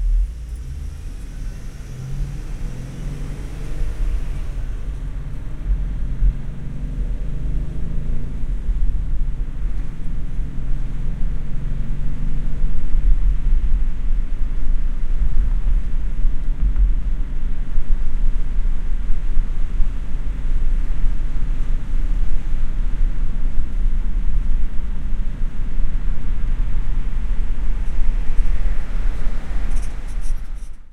nice creaking as it accelerates 0.0 - 6.3
cars passing 0.0 - 12.8
trucks 0.0 - 30.9
cars passing 24.9 - 30.9
nice creaking as it accelerates 27.3 - 30.9

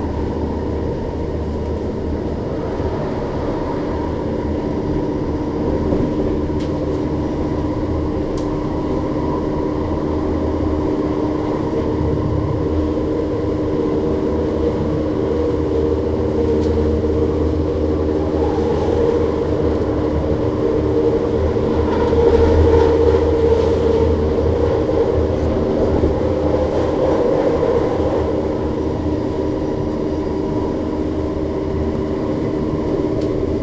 electric transit train with a linear induction motor accelerating 0.0 - 33.6

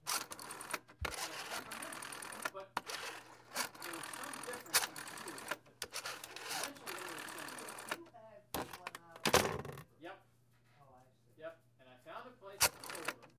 Dialing my grandmother's rotary phone 0.0 - 9.8
chatter in the background 0.6 - 10.0
chatter in the background 10.7 - 13.3
Dialing my grandmother's rotary phone 12.6 - 13.3

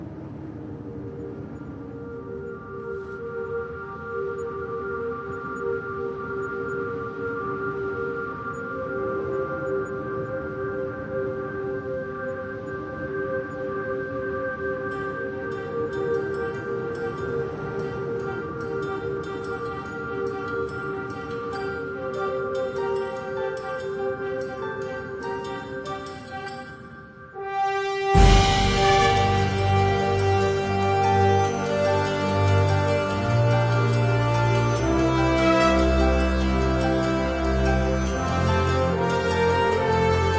wind 0.0 - 40.3
soaring french horn 2.2 - 40.3
brass/string ensemble 14.4 - 40.3
Huge drums 28.2 - 31.2

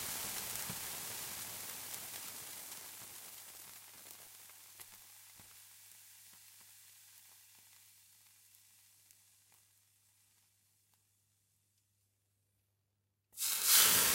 water poured on stove 13.4 - 14.1

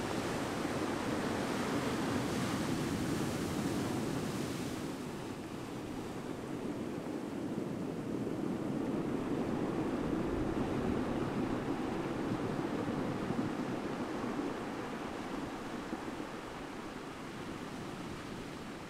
Waves rolling 0.0 - 18.8

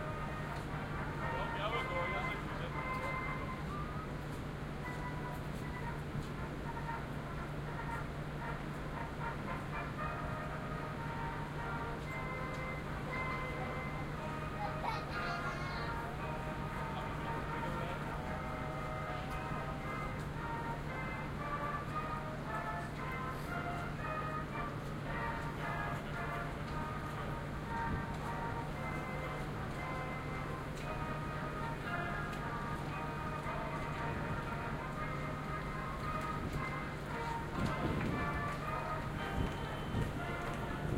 Departure music on a Ferry 0.0 - 40.9
everyone, who is strolling along the deck 0.0 - 40.9

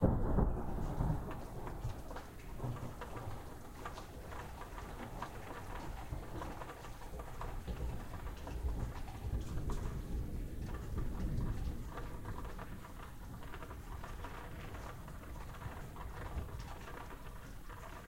rain 0.0 - 18.0
small crack of thunder 0.0 - 18.0

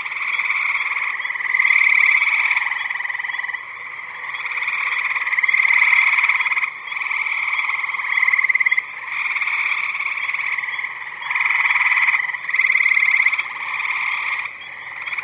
Tree frogs 0.0 - 15.2
occasional green frog in the background 0.0 - 15.2
spring peepers 0.0 - 15.2

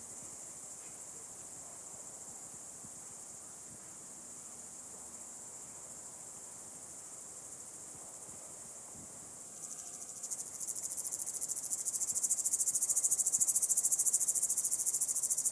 Single Cicade or Cricket 0.0 - 15.5

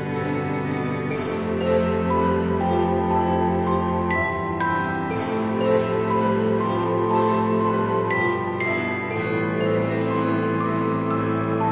piano 0.0 - 11.7

